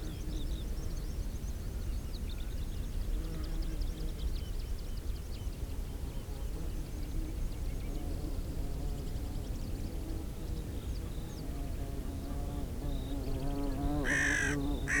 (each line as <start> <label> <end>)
14.0 calls form lesser black-backed gull 15.0
14.0 crow 15.0